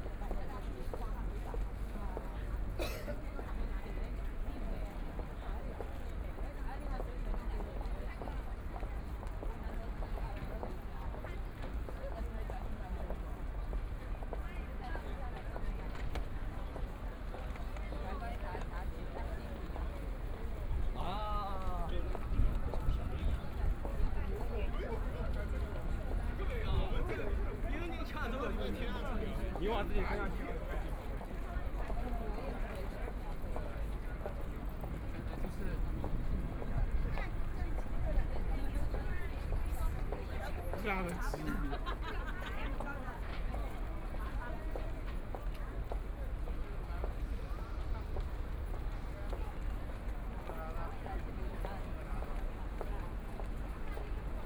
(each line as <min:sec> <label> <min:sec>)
0:00.0 Very large number of tourists 0:54.4